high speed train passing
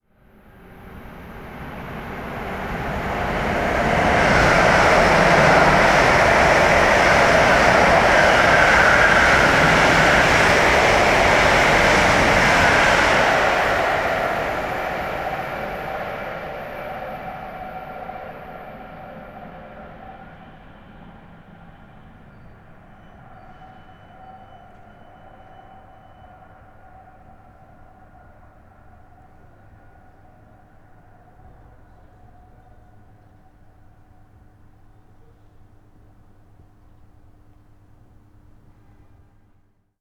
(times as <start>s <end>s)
0.1s 31.8s